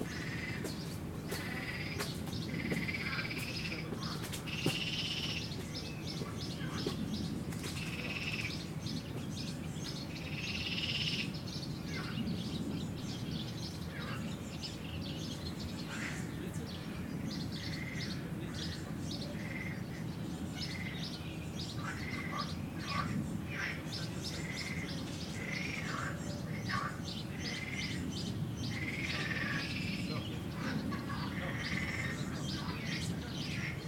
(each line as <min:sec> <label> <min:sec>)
0:00.0 Birds 0:33.8
0:01.3 frogs 0:05.5
0:07.8 frogs 0:08.6
0:10.3 frogs 0:12.2
0:17.7 frogs 0:18.7
0:19.3 frogs 0:20.0
0:21.7 frogs 0:28.0
0:28.7 frogs 0:33.8